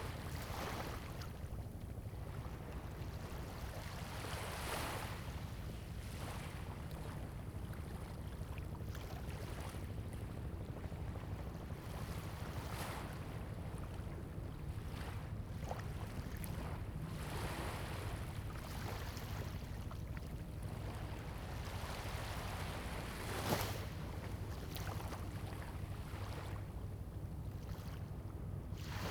waves 0:00.0 - 0:29.1

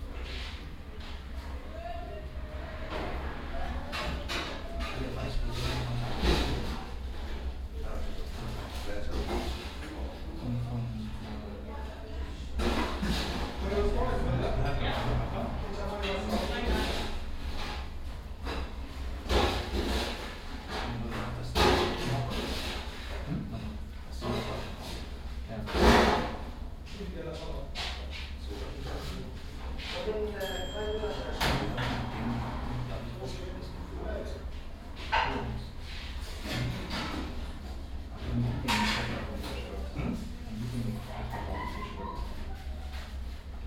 traffic from outside 0:00.0 - 0:10.0
people talking 0:01.4 - 0:06.7
people talking 0:07.7 - 0:17.1
people talking 0:20.7 - 0:24.8
traffic from outside 0:26.6 - 0:38.3
people talking 0:26.9 - 0:34.4
people talking 0:35.2 - 0:35.7
people talking 0:38.2 - 0:42.8

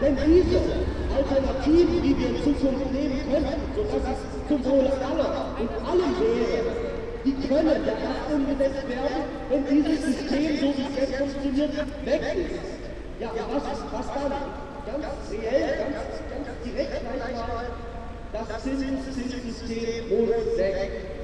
Trams 0:00.0 - 0:11.0
their speeches 0:00.0 - 0:21.2

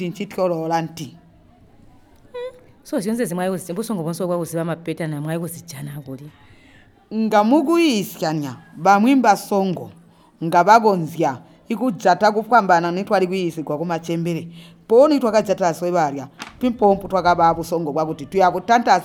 She talks 0:01.4 - 0:07.4

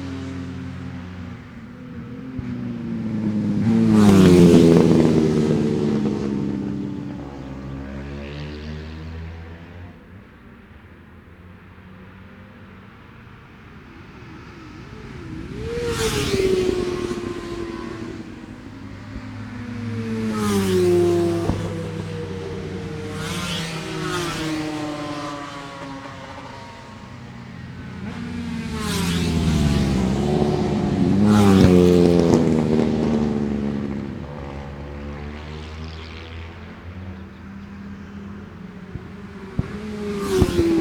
ultra lightweight / lightweight motorbike qualifying 0:00.0 - 0:40.8

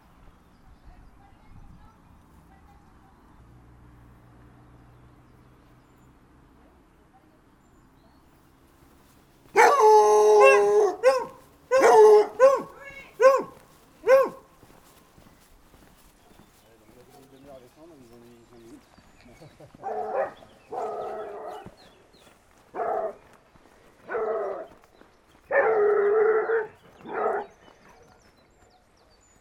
others small dogs are following 0:00.0 - 0:29.4
Dogs barking 0:09.5 - 0:15.0
Dogs barking 0:19.6 - 0:21.9
Dogs barking 0:22.7 - 0:23.4
Dogs barking 0:24.0 - 0:24.8
Dogs barking 0:25.4 - 0:28.2

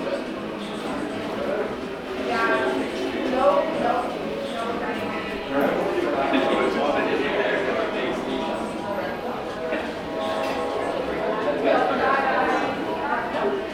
conversation 0:02.2 - 0:13.5

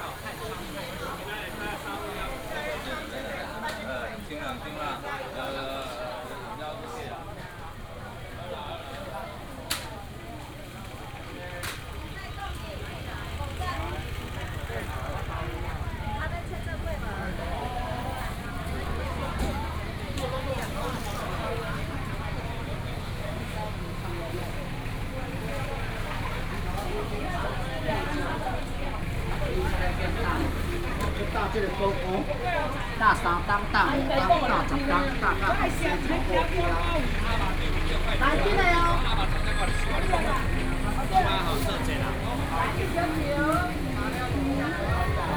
Walking through the traditional market 0:00.0 - 0:45.3
traffic sound 0:00.0 - 0:45.3

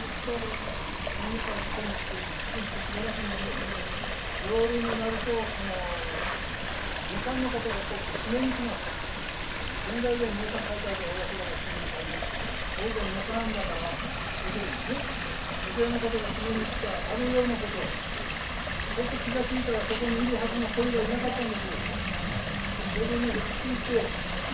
streams 0:00.0 - 0:24.5

